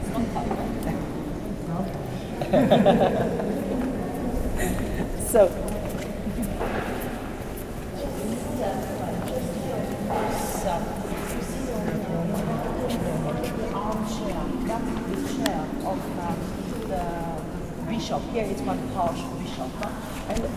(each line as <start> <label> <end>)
0.0 group of tourists 20.5